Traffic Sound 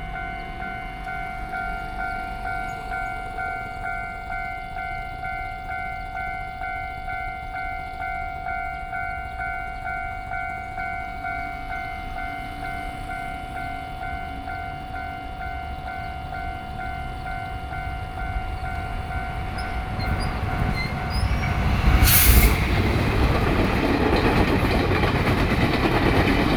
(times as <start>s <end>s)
16.0s 26.5s